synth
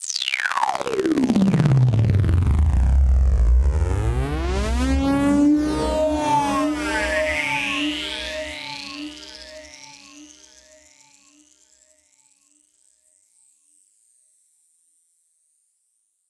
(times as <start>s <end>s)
0.7s 11.2s